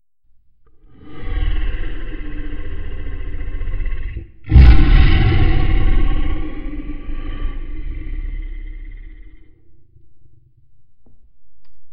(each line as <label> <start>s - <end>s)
Beast Roar 0.9s - 10.6s